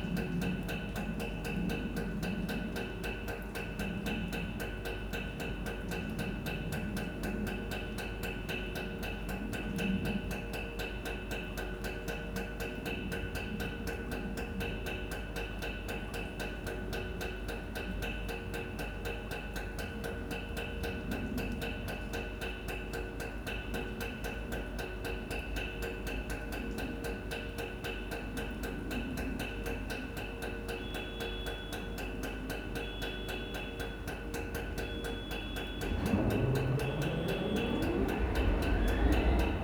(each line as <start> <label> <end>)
34.6 Rhythmic train 39.6